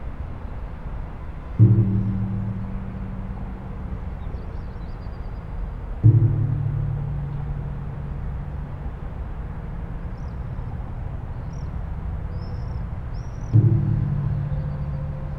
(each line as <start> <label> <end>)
1.6 mallet & Drum sticks 4.6
6.0 mallet & Drum sticks 9.4
13.5 mallet & Drum sticks 15.3